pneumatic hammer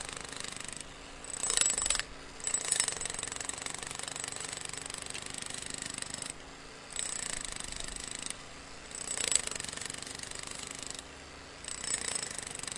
0.0 6.4, 11.6 12.7

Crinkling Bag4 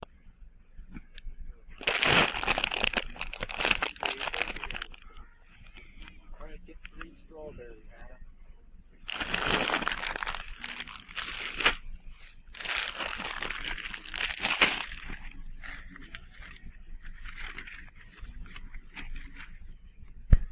1.8 6.1, 9.1 19.6

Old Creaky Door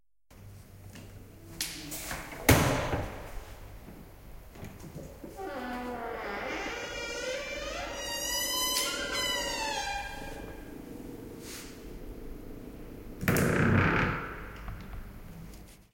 5.3 12.4, 13.2 15.1

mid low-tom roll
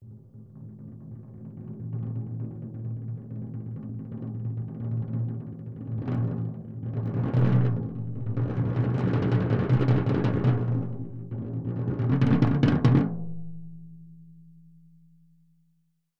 5.9 14.5

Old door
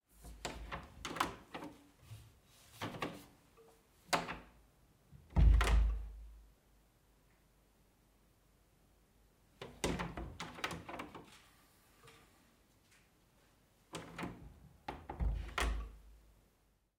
0.2 1.9, 4.1 4.6, 5.2 6.3, 9.6 11.4, 13.9 16.1

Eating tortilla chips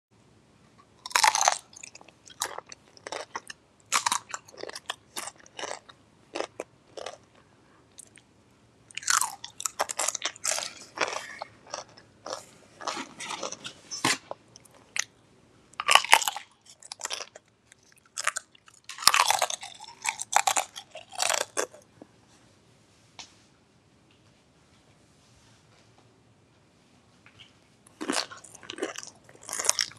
1.0 8.3, 8.9 15.2, 15.8 21.9, 27.9 29.9

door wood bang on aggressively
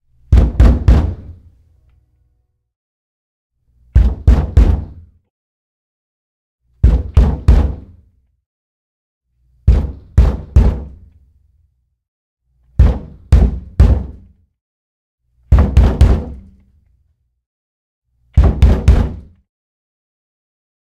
0.3 1.3, 4.0 5.0, 6.8 7.9, 12.8 14.2, 15.5 16.5, 18.4 19.3

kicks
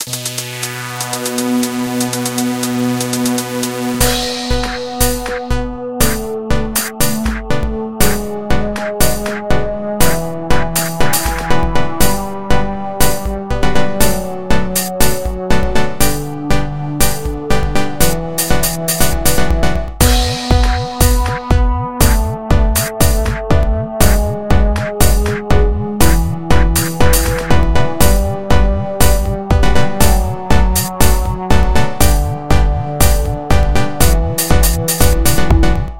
19.7 28.2

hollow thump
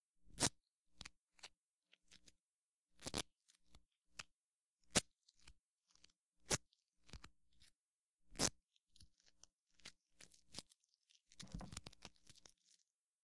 11.4 11.8

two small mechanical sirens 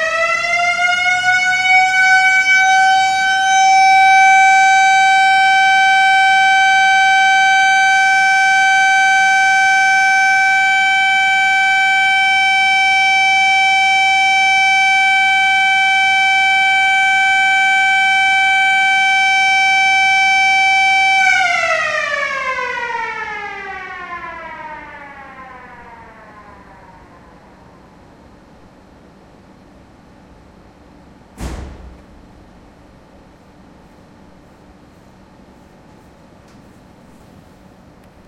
0.0 28.8

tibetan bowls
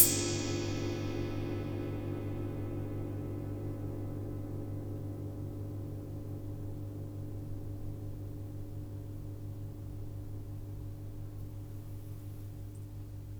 0.0 2.1

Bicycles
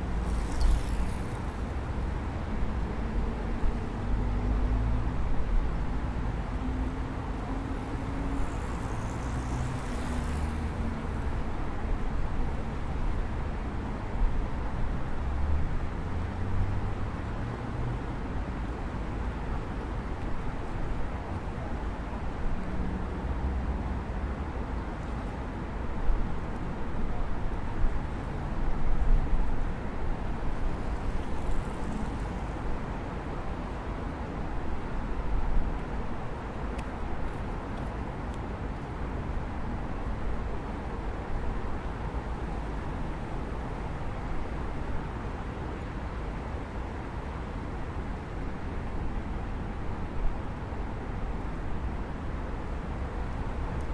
0.0 2.4, 7.6 13.1, 30.2 35.8

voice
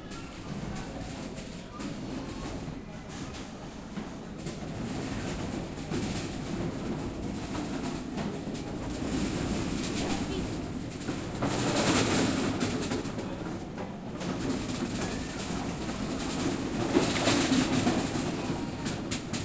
9.9 10.6

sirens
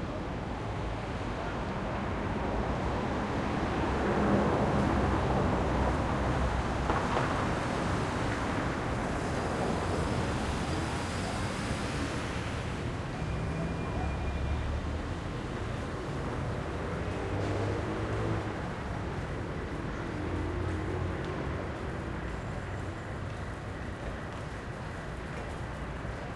12.9 15.3

